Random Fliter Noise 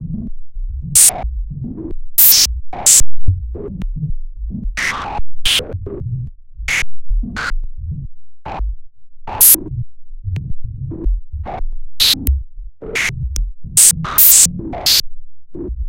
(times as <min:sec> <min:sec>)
0:02.2 0:03.0, 0:13.8 0:14.5